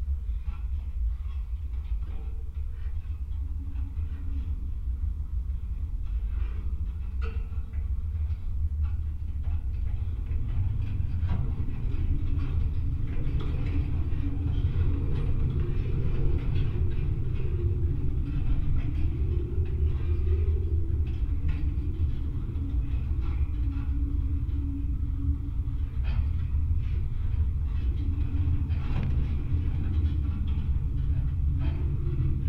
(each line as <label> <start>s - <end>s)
fence drone 9.6s - 32.4s